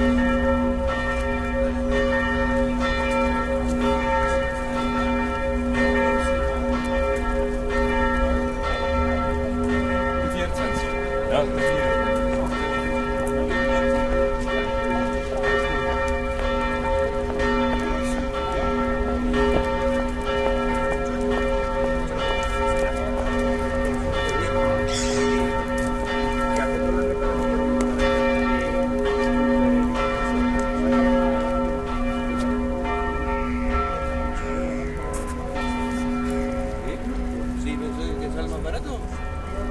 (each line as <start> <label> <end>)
0.0 church bells 39.7